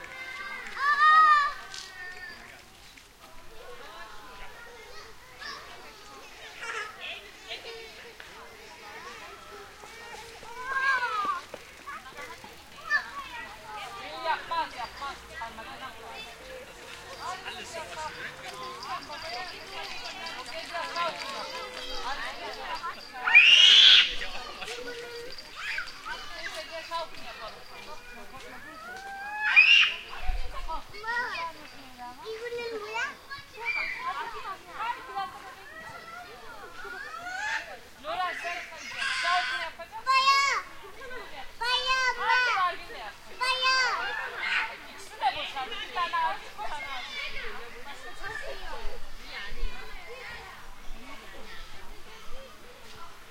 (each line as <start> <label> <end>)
0.0 Children playing on a playground 53.3